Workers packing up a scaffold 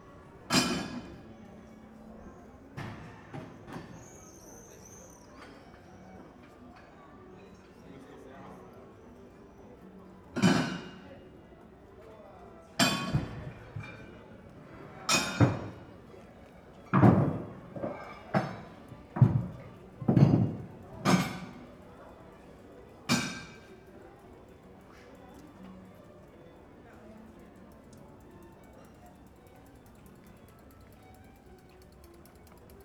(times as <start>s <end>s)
12.8s 21.8s